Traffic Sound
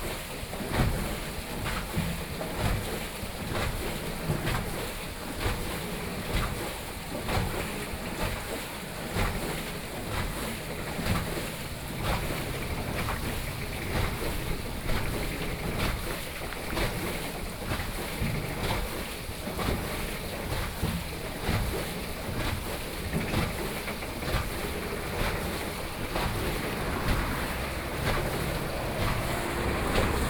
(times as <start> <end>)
10.0 17.8, 23.6 30.2